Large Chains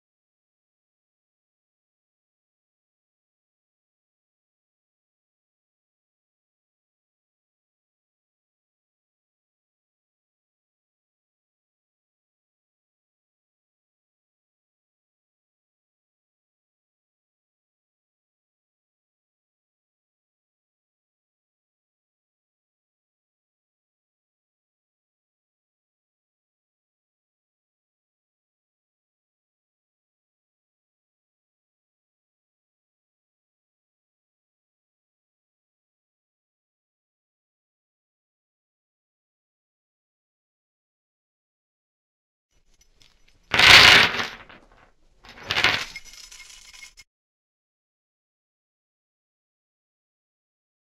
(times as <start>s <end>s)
42.7s 47.0s